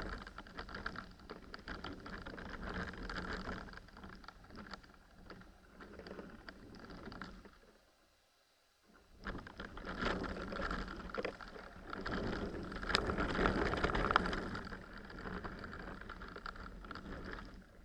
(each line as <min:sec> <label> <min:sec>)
0:09.2 a branch in a wind 0:17.8